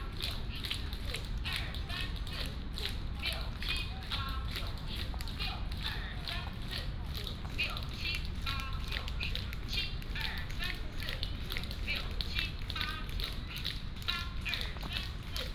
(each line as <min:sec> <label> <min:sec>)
0:00.0 Many old people gathered 0:15.5